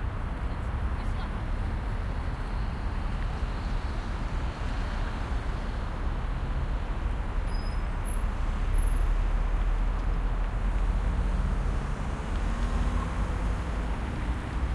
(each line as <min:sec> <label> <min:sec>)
0:00.0 heavy distant traffic 0:14.7
0:00.0 occasional cars passing 0:14.7
0:07.5 brakes squeak 0:08.2